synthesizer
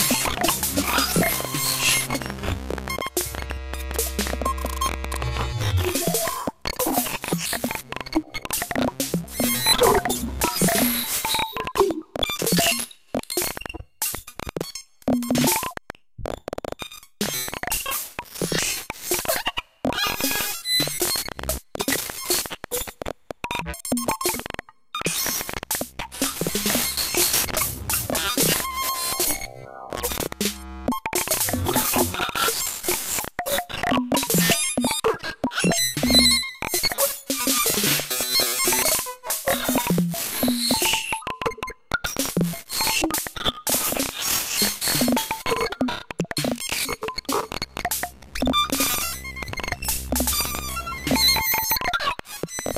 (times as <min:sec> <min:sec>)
0:00.0 0:12.0, 0:25.1 0:34.6, 0:43.9 0:52.0